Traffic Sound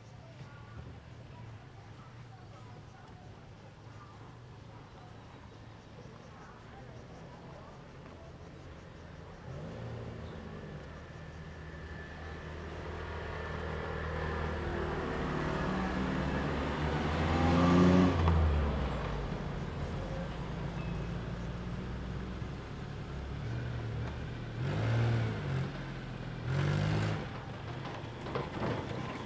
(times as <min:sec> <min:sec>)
0:09.0 0:29.2